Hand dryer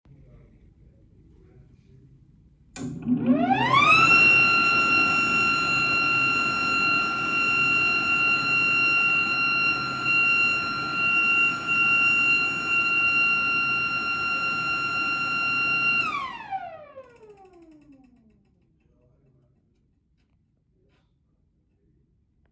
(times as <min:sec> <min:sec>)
0:02.8 0:16.8